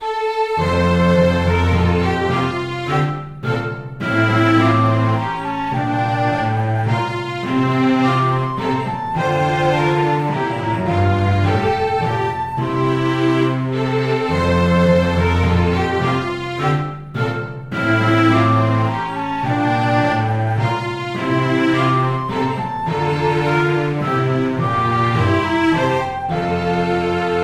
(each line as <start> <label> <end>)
0.0 flute 27.4
0.0 strings 27.4
0.6 timpani 27.4